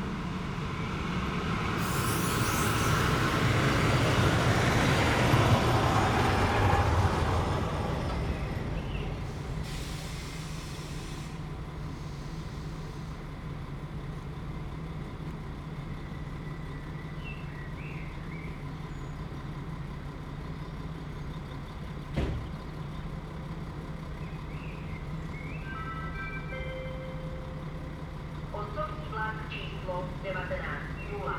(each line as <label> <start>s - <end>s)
train in & out 0.0s - 31.3s
blackbird sings in the mid distance 16.4s - 19.3s
blackbird sings in the mid distance 24.2s - 27.1s
announcements 24.8s - 31.3s